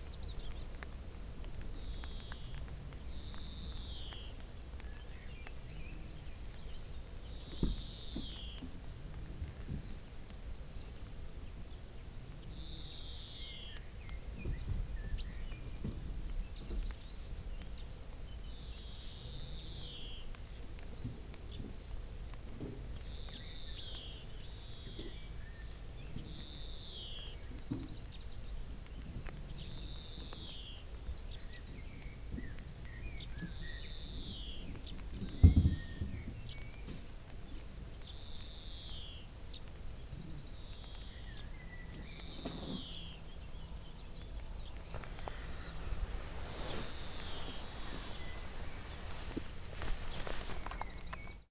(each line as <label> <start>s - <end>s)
a little light rain 0.0s - 51.5s
early morning birds 0.0s - 51.5s